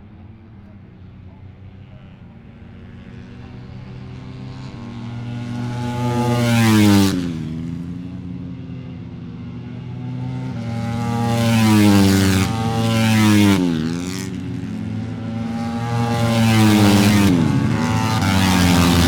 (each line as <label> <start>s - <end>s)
Motorcycle 0.0s - 19.0s